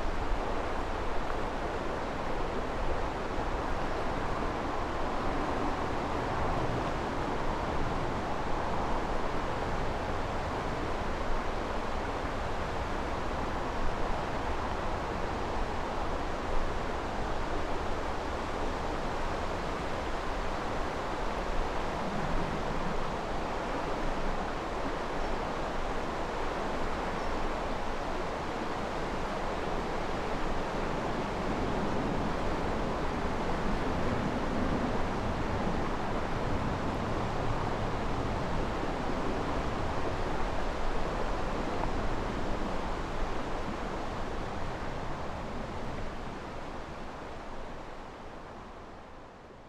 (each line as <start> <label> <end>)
0.0 river 49.6